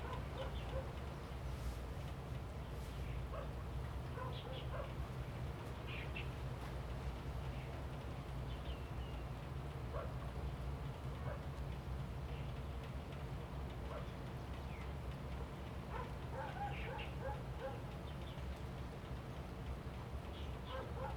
0.0s Dog barking 0.9s
4.2s Dog barking 5.0s
15.9s Dog barking 17.8s
20.7s Dog barking 21.1s

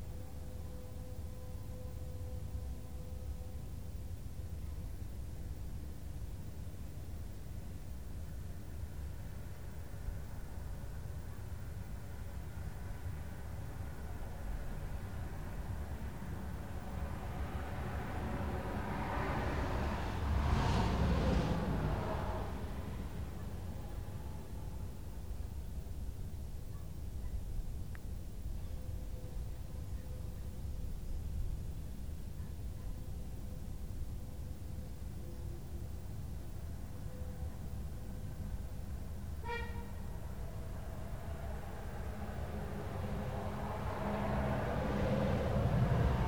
0.1s Train horns 4.0s
0.1s Ferry horns 4.2s
12.1s Ferry horns 24.8s
12.6s Car, truck and bus traffic 24.6s
12.8s Train horns 24.7s
37.0s Ferry horns 46.2s
37.7s Car, truck and bus traffic 46.2s
38.4s Train horns 46.2s

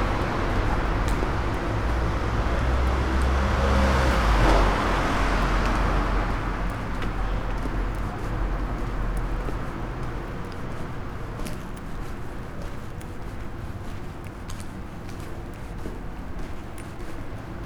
0.0s walking 17.6s

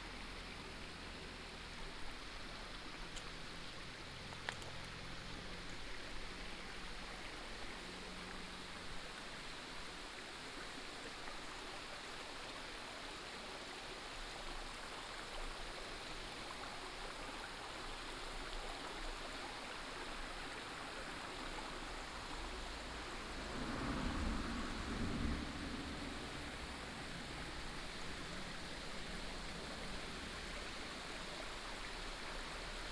0.0s stream 32.9s

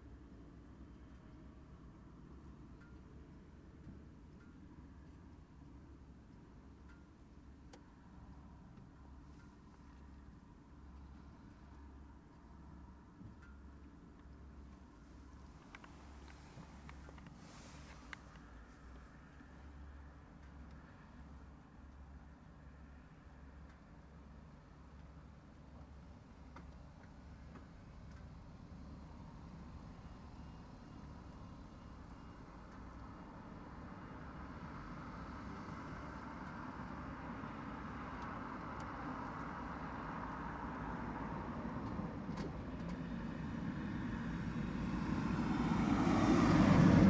14.7s road noise 19.4s
30.9s road noise 47.0s

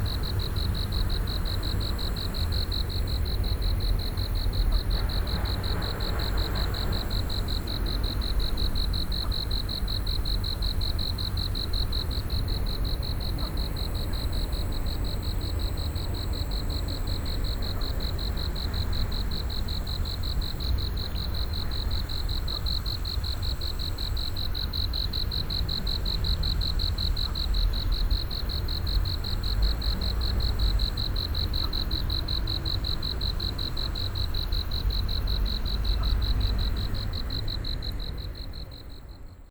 0.0s Insects sounds 39.5s
26.2s Traffic Sound 39.5s

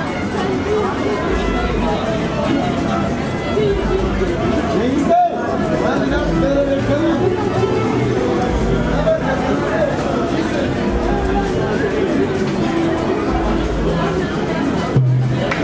0.0s crowds 15.6s

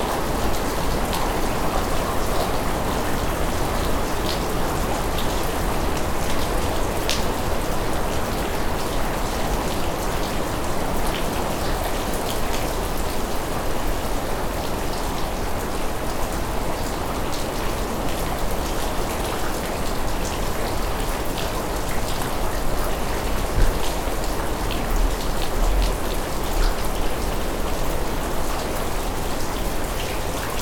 0.0s rain 30.6s

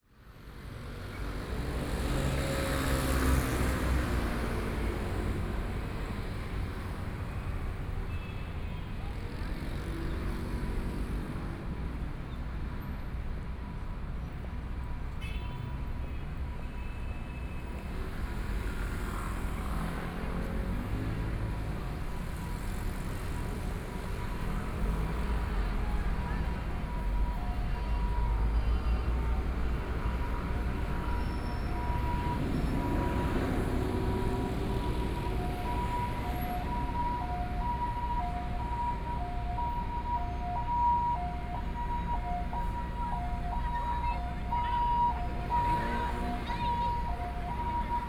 0.1s Traffic Sound 48.0s
23.7s Ambulance sound 48.0s

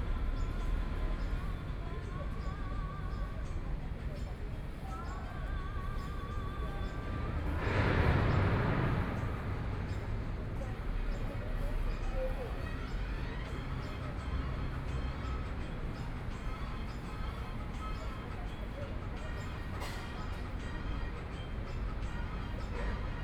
0.0s Birds singing 18.6s
6.6s construction site noise 16.3s

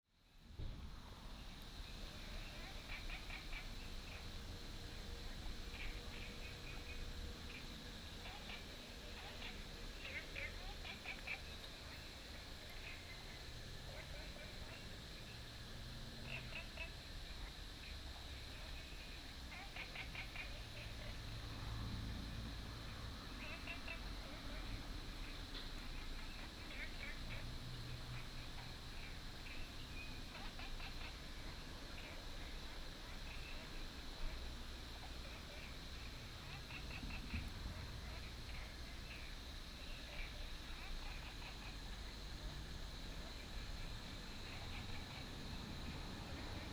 1.1s Frog sounds 46.7s

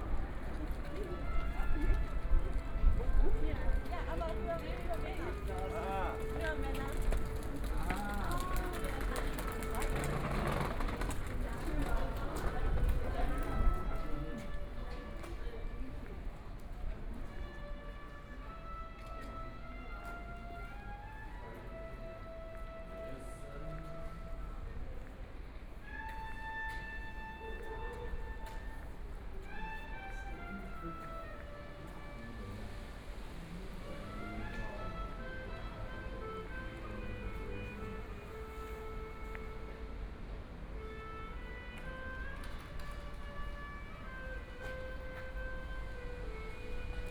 0.0s Pedestrians and tourists 47.1s
0.0s Street music 47.1s

